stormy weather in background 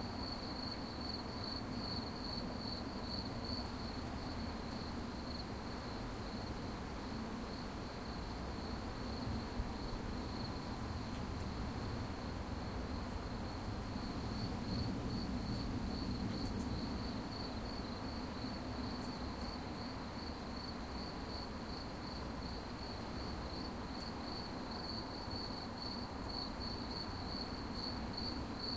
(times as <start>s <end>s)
1.4s 20.2s